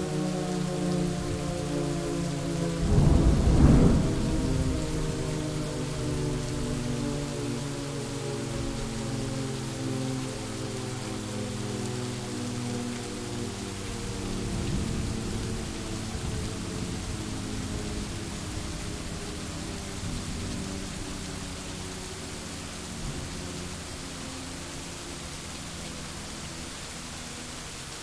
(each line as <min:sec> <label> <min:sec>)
0:00.0 siren 0:28.0
0:00.0 rain 0:28.0
0:02.8 thunder 0:05.6
0:14.5 thunder 0:17.7